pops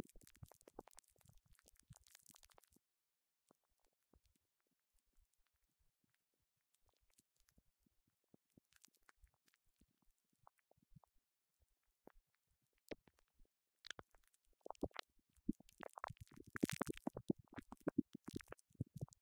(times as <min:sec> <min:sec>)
0:14.7 0:19.2